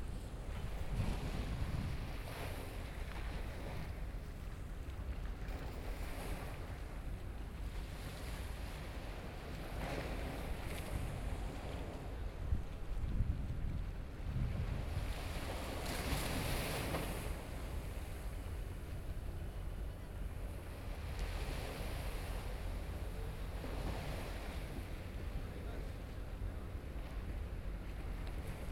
waves 0.0 - 28.7

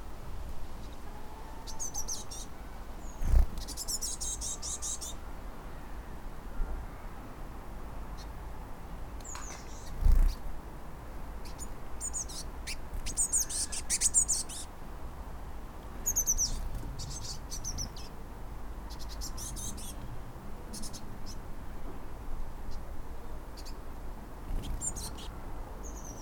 Robins 0.8 - 7.2
Robins 18.8 - 21.5
Robins 24.4 - 26.2

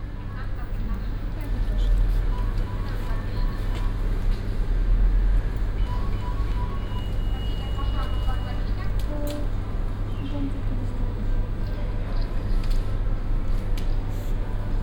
shopping center sounds coming from afar 0.1 - 14.8
people purchasing tickets 0.4 - 14.8
ticket sales person talking to them through a speaker 5.8 - 12.6

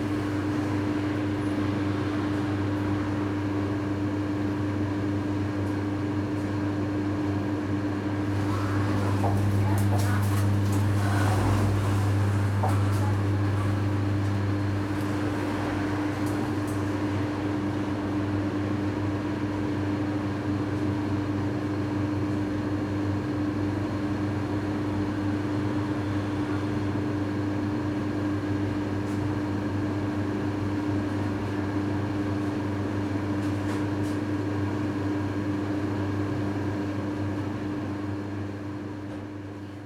drone of the air conditioner 0.0 - 39.8
sliding door 8.1 - 17.7
clutter of the shopping carts 8.2 - 17.0
customers 8.2 - 17.5
cash registers 8.2 - 16.6

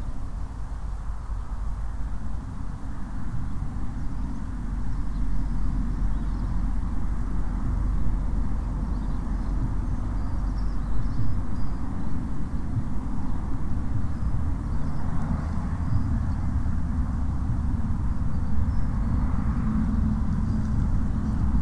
breeze blowing through the grasses and plants 0.0 - 21.6
distant planes 0.0 - 21.6
traffic 0.0 - 21.6
birds 3.4 - 17.4

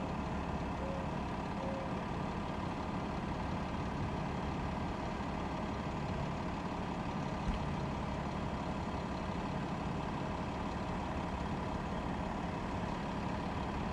Idling bus 0.0 - 13.9

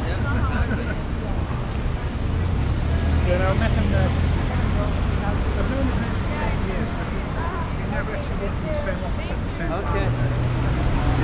traffic 0.0 - 11.2

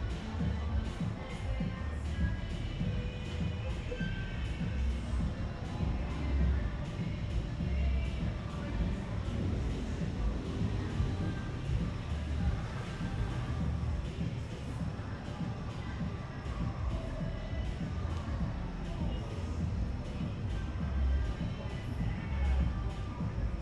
música de un bar cercano 0.0 - 23.6

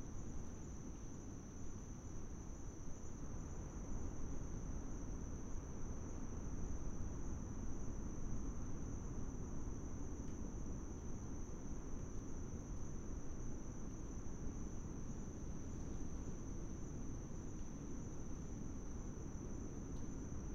insects 0.0 - 20.5

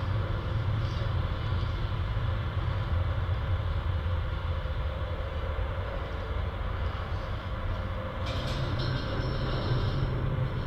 Wind and traffic ambience reverberating and resonating 0.0 - 10.6

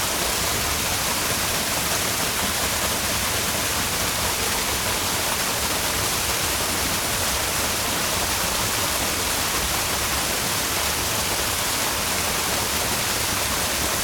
Small waterfall from Britna stream 0.0 - 14.0

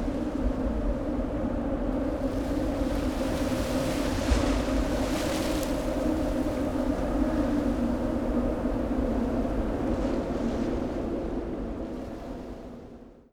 river Tejo waves 2.2 - 7.2

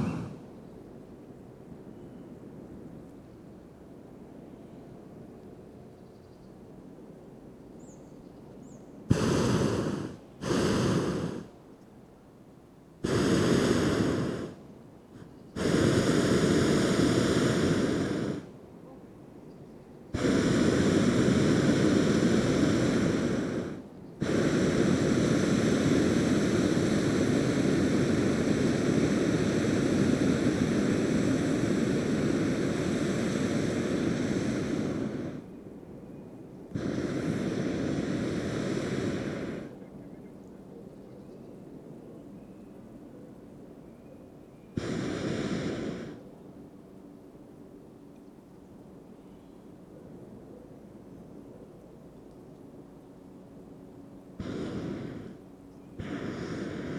hot air baloon 0.0 - 0.5
hot air baloon 9.1 - 11.6
hot air baloon 13.0 - 19.0
hot air baloon 20.2 - 35.8
hot air baloon 36.6 - 40.0
hot air baloon 44.8 - 46.4
hot air baloon 53.1 - 56.9

